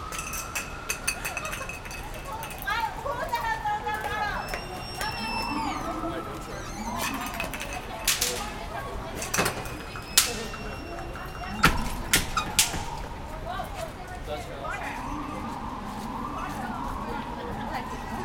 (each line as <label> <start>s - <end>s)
Street sounds 0.0s - 18.2s
kids throwing bang snaps in the street 6.2s - 14.0s